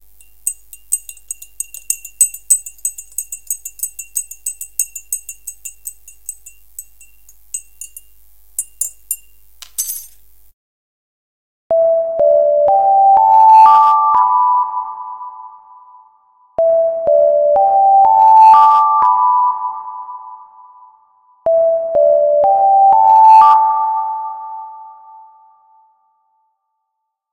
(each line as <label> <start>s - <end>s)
Tea spoon 0.0s - 10.2s